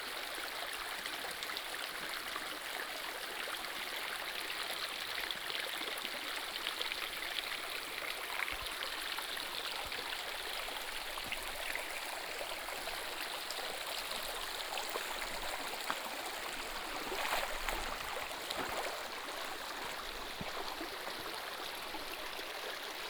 Walking along the river 9.9 - 22.5

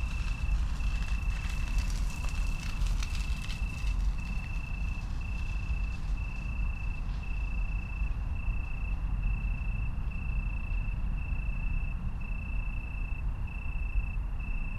traffic 0.0 - 7.4
rain 0.0 - 7.6
bicycles 0.0 - 10.9
pedestrians 0.0 - 10.9
crickets 0.0 - 14.7
train 0.0 - 14.7

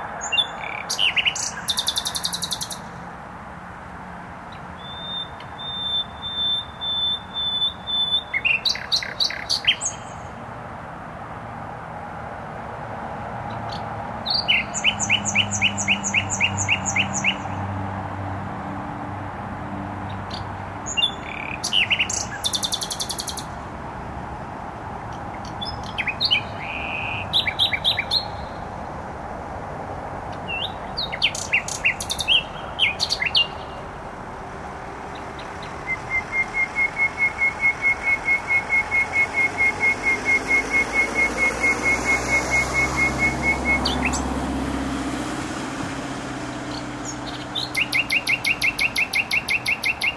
nightingale singing in bushes 0.0 - 3.0
noisy motorway 0.0 - 50.1
nightingale singing in bushes 4.5 - 10.4
nightingale singing in bushes 13.5 - 17.8
nightingale singing in bushes 20.1 - 23.6
nightingale singing in bushes 25.1 - 28.8
nightingale singing in bushes 30.3 - 34.0
nightingale singing in bushes 35.0 - 50.1

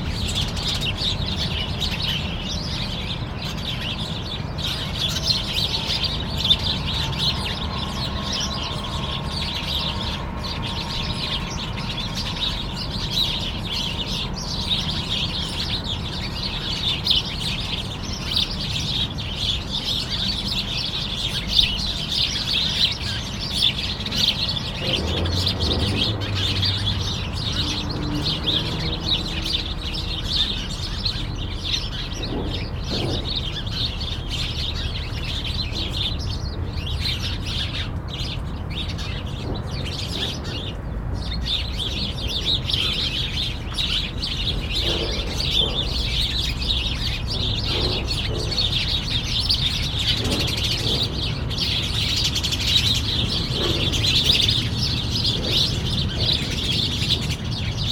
sparrows are fighting 0.0 - 57.9

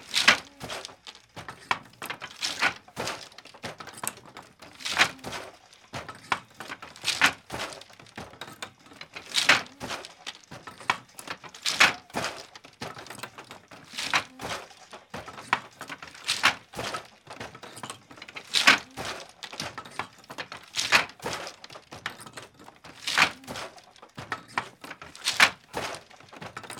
weaving on her loom 0.0 - 26.7

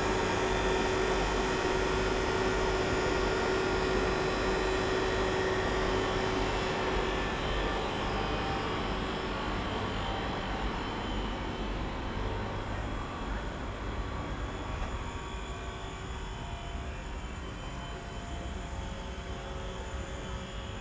aircon 0.0 - 20.8

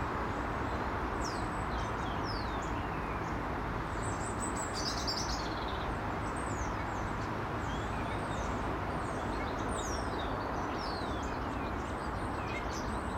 Treetop starlings call 1.2 - 13.1

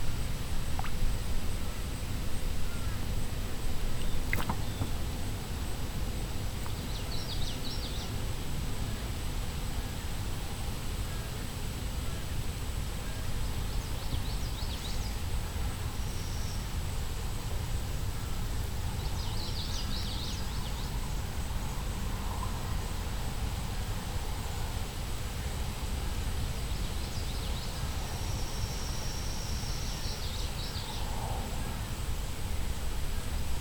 little fish in the pond, coming up to nibble 0.0 - 8.5

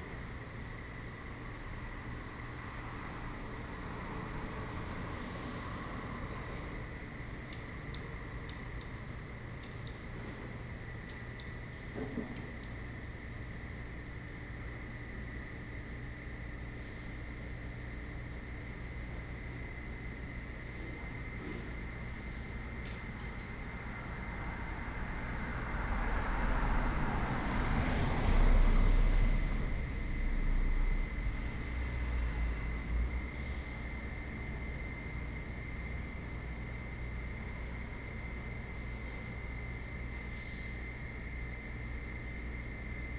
Traffic sound 23.6 - 34.8

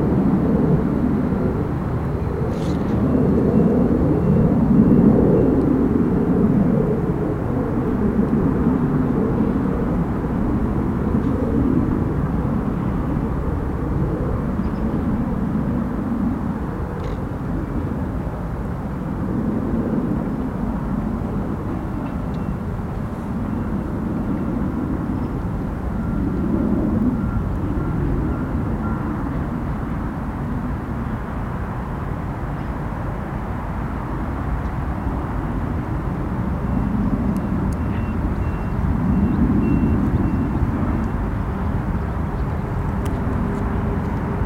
Jet aircraft passing overhead 0.0 - 44.4
road traffic 0.0 - 44.4
small propeller aircraft 0.0 - 44.4

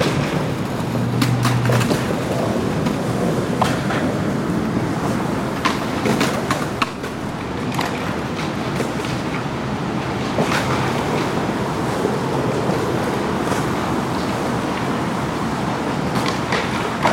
light automobile traffic 0.0 - 17.1
skateboarding 0.0 - 17.1

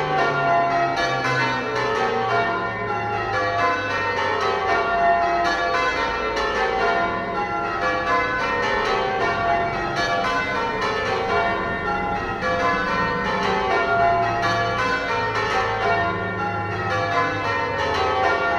bells ringing 0.0 - 18.5
ebb and flow of traffic 6.0 - 18.5

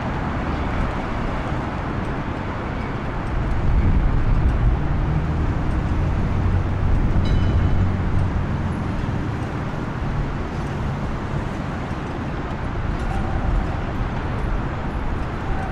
busy intersection 0.0 - 15.7

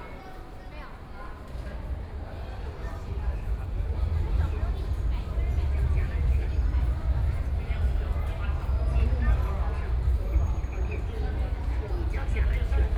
Trains traveling through 1.9 - 12.9
Train stops 3.8 - 12.7

